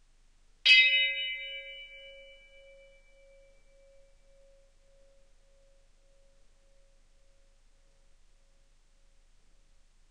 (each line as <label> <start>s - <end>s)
bell 0.7s - 8.7s